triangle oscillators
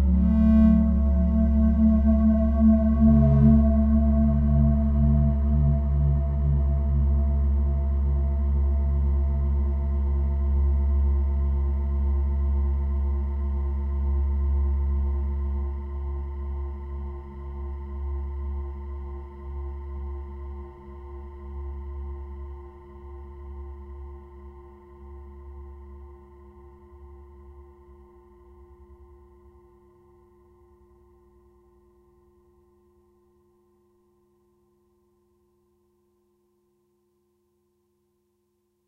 0:00.0 0:10.2

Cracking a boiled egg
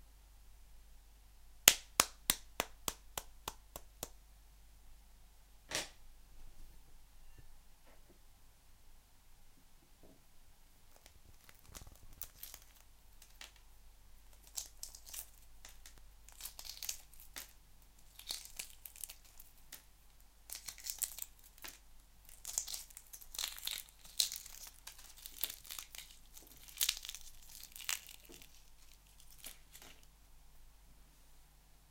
0:10.9 0:13.6, 0:14.2 0:19.9, 0:20.5 0:30.1

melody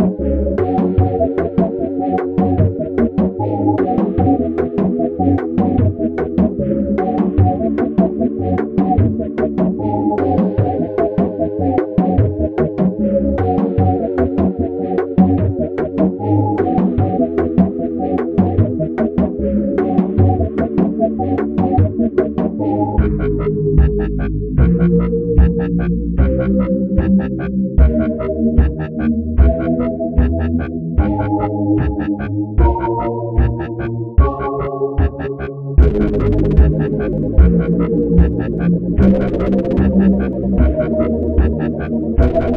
0:34.2 0:42.5

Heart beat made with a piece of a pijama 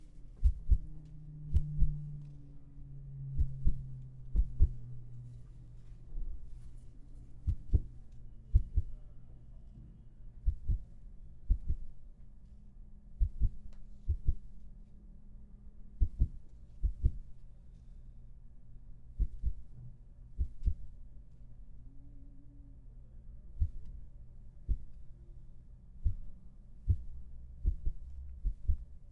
0:00.0 0:02.5, 0:03.1 0:05.4, 0:06.4 0:09.1, 0:10.4 0:12.1, 0:13.1 0:14.6, 0:15.9 0:17.4, 0:19.1 0:21.0, 0:23.5 0:24.0, 0:24.6 0:25.1, 0:26.0 0:29.1

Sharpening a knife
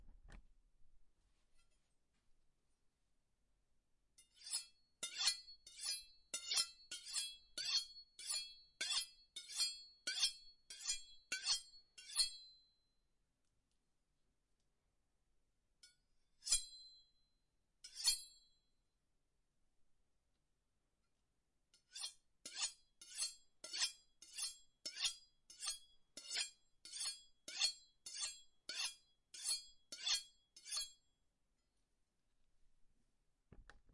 0:04.2 0:12.4, 0:16.4 0:16.8, 0:17.8 0:18.3, 0:21.8 0:31.0

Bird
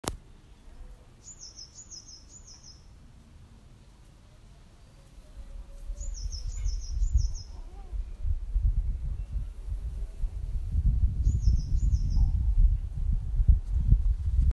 0:00.5 0:02.9, 0:04.9 0:08.3, 0:11.2 0:12.5

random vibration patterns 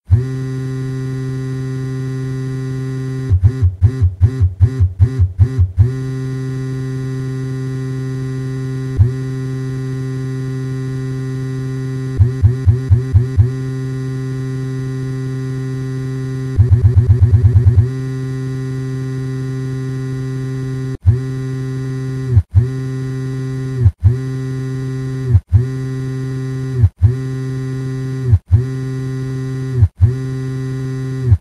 0:16.6 0:17.9

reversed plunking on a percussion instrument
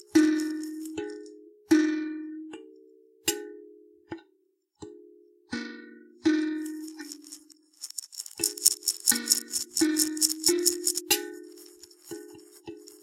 0:00.0 0:02.7, 0:05.6 0:13.0

